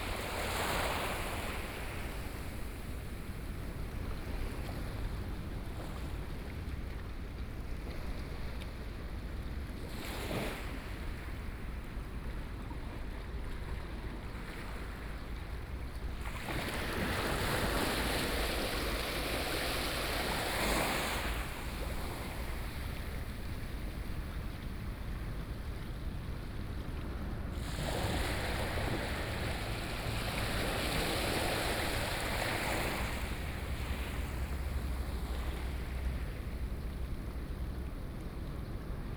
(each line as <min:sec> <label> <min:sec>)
0:00.0 waves 0:39.1
0:28.0 Traffic Sound 0:37.9